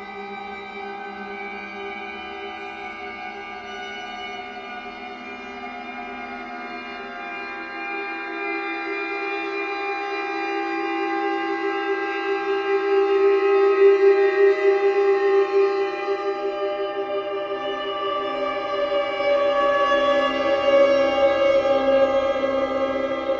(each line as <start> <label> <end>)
12.8 drone 23.3